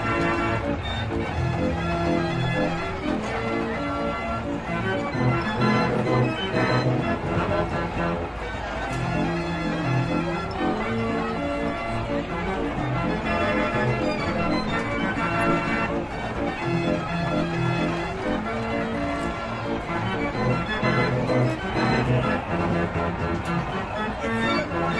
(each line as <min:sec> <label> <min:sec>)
0:00.0 carousel 0:24.9
0:00.0 music 0:24.9